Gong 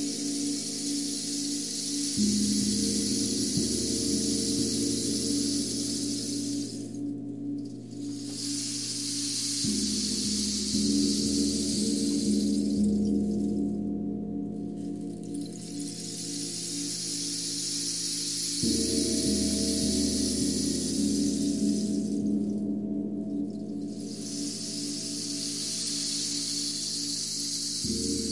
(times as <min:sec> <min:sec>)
0:18.6 0:26.2